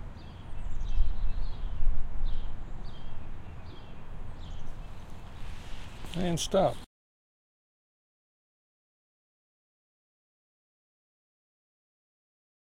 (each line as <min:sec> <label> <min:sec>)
0:00.0 several wind ruffles 0:06.9
0:00.2 occasional bird chirp 0:05.8